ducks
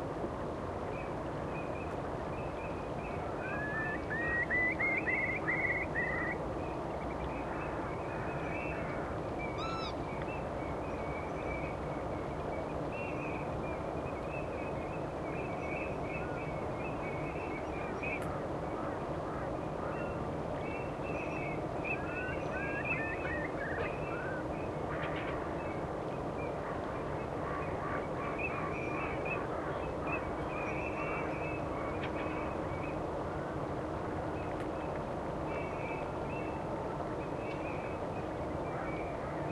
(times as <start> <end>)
22.4 25.8